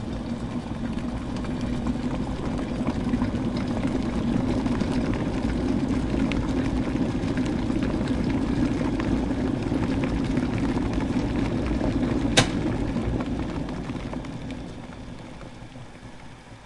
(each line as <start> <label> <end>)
0.0 Kettle Boiling 16.6
12.3 kettle being switched on 12.8